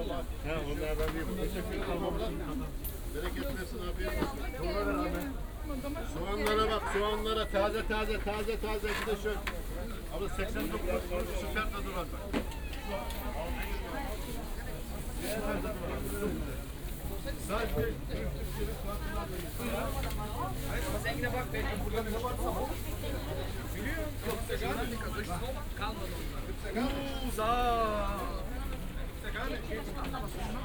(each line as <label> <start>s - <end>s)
market ambience 0.0s - 30.6s